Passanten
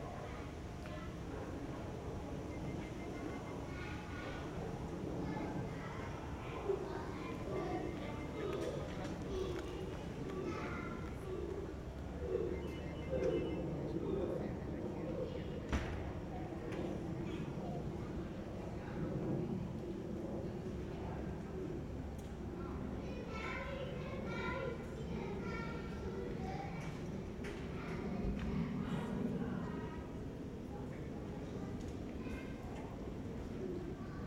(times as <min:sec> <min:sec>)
0:00.5 0:16.3